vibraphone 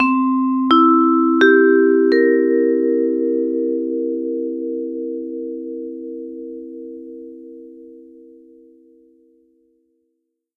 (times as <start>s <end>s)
0.0s 4.4s